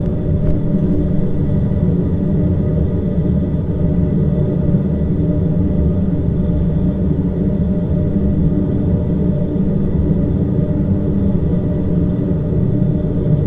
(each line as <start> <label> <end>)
0.0 Ventilation sound 3.8